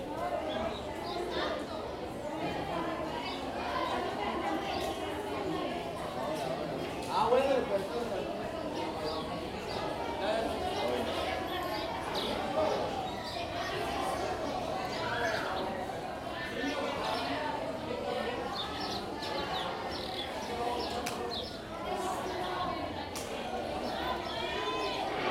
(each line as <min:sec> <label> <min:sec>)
0:00.0 Students having break between classes 0:25.3